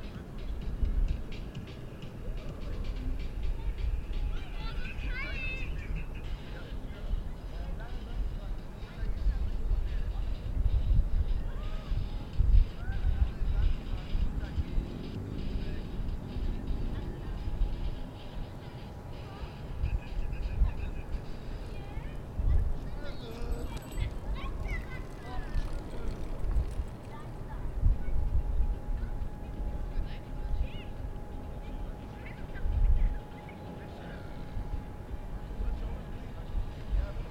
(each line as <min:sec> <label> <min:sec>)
0:00.0 Bicycles 0:37.3
0:00.0 voices 0:37.3
0:11.3 teens gather 0:27.8